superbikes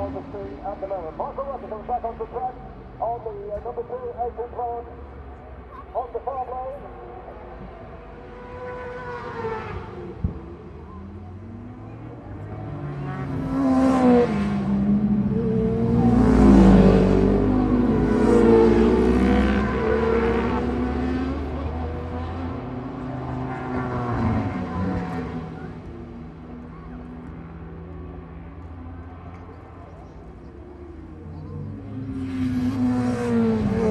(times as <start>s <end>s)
7.0s 33.9s